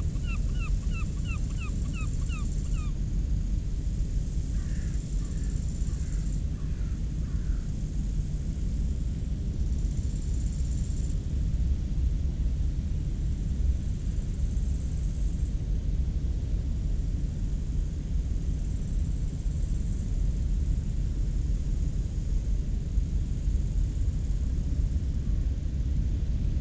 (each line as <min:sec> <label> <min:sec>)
0:00.0 Locust singing on the high grass 0:03.2